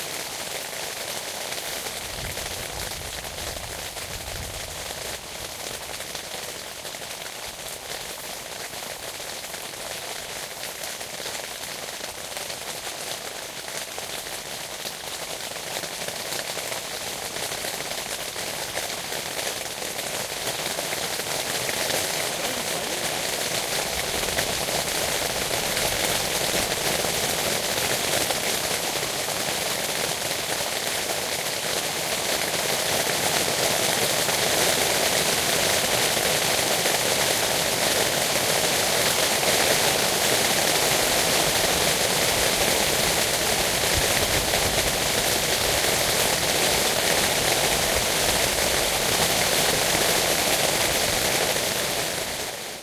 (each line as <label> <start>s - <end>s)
heavy rain 0.0s - 52.8s